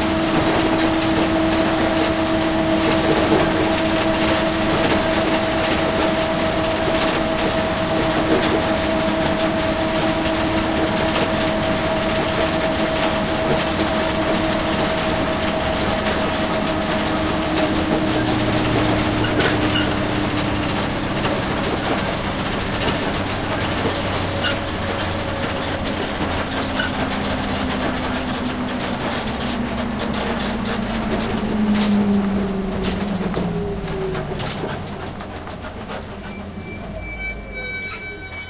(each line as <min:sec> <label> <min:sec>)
0:00.0 bus 0:38.4
0:15.5 clanky disabled equipment 0:38.4